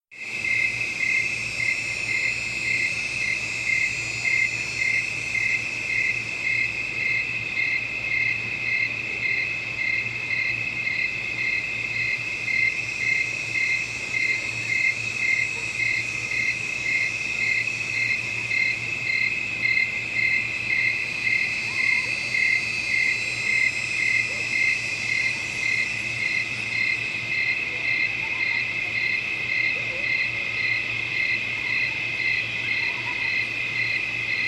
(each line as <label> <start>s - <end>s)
cicadas 0.1s - 34.4s
buzzing of crickets 0.2s - 34.4s